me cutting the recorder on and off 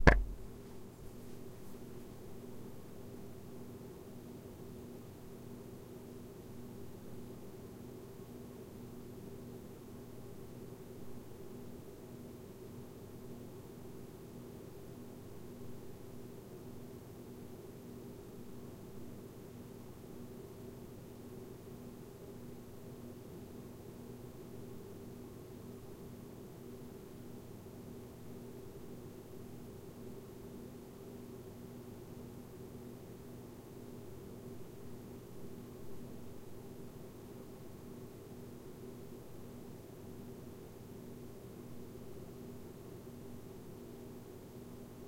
0:00.0 0:00.4

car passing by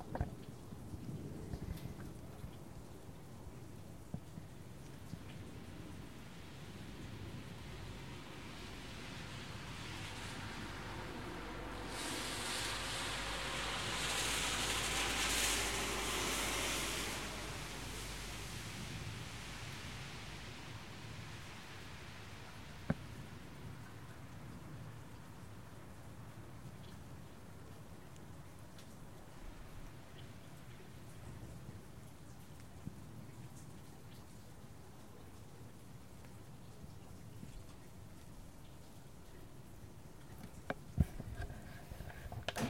0:08.4 0:20.5

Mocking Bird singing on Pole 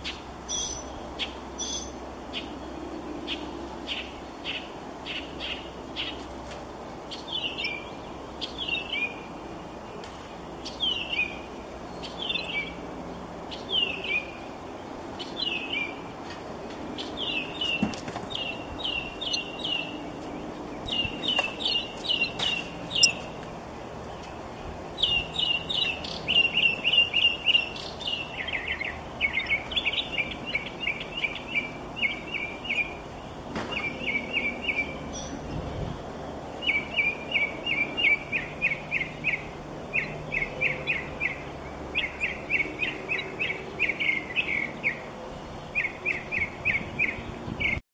0:00.0 0:02.5, 0:07.1 0:09.2, 0:17.0 0:20.0, 0:20.8 0:23.3, 0:25.0 0:33.0, 0:36.6 0:45.1, 0:45.7 0:47.8

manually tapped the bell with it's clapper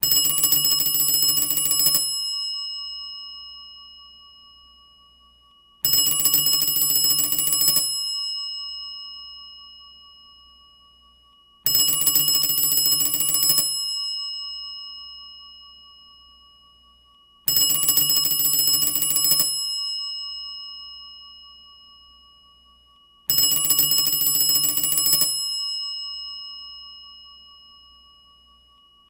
0:19.1 0:28.7

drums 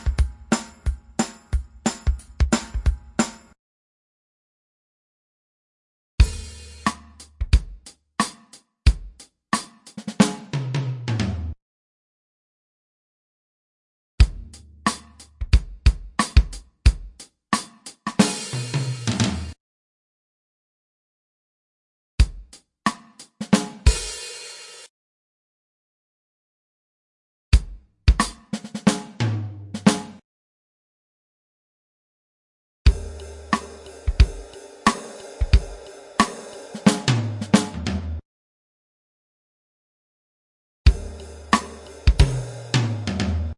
0:00.0 0:03.6, 0:06.2 0:11.6, 0:14.2 0:19.6, 0:22.2 0:24.9, 0:27.5 0:30.2, 0:32.9 0:38.2, 0:40.9 0:43.5

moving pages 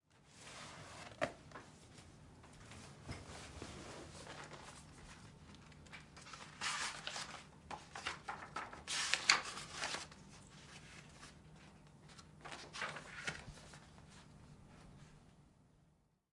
0:03.4 0:14.3

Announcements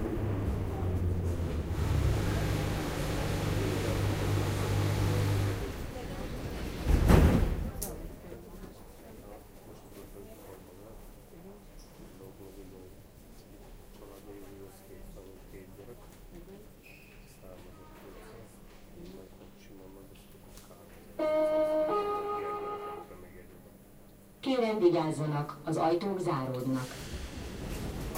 0:21.2 0:23.3, 0:24.4 0:27.1

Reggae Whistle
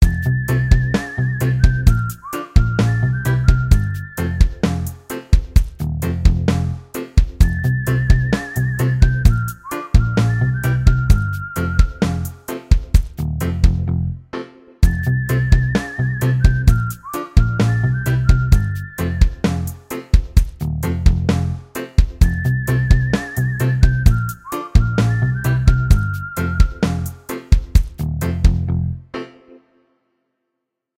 0:00.0 0:05.3, 0:07.4 0:12.7, 0:14.8 0:20.0, 0:22.2 0:27.6

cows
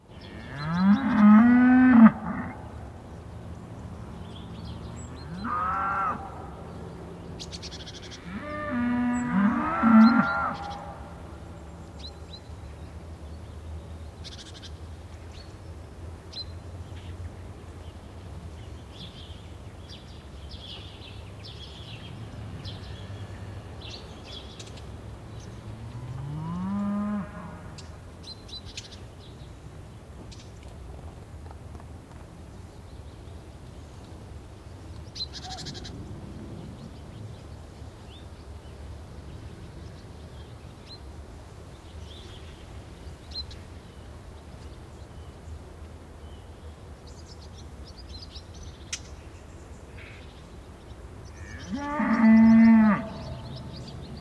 0:07.8 0:11.1

